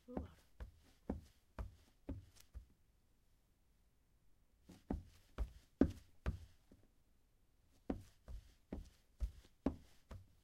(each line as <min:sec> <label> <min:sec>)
0:00.1 Socks on wood footsteps 0:02.7
0:04.6 Socks on wood footsteps 0:06.9
0:07.8 Socks on wood footsteps 0:10.4